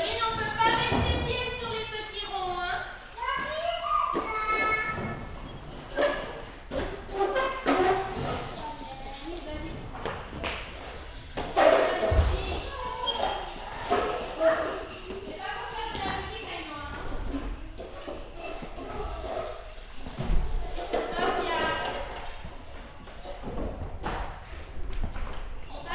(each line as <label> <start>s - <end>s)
very young child 3.1s - 5.3s